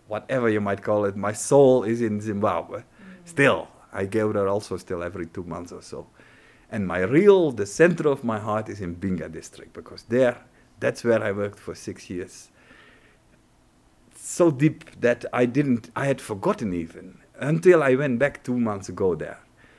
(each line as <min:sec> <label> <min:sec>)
0:00.4 interview 0:06.0